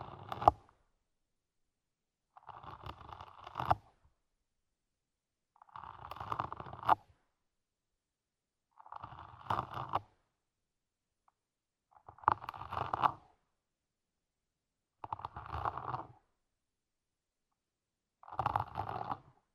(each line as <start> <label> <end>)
18.2 famished snail, eating a carrot 19.3